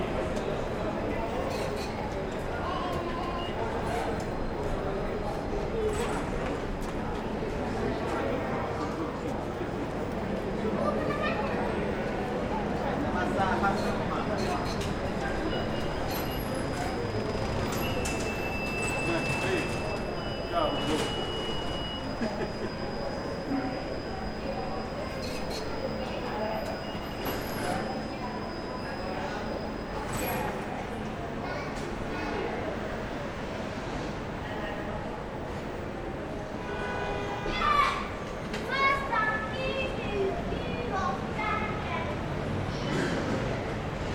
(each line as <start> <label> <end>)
0.0 people speaking 33.4
0.0 traffic 44.1
37.3 people speaking 43.8